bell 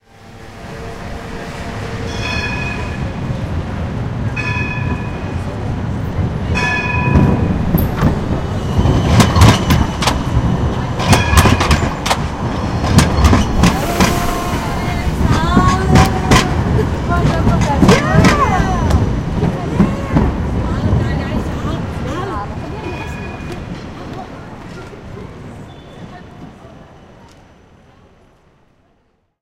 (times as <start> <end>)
2.1 3.0, 4.4 5.4